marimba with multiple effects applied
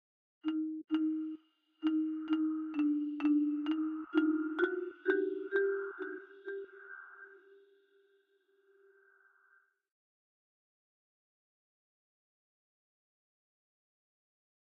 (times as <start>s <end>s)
0.5s 7.7s